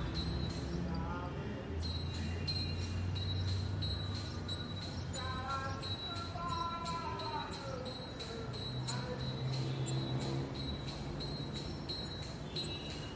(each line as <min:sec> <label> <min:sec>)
0:05.1 singing an aarti 0:10.5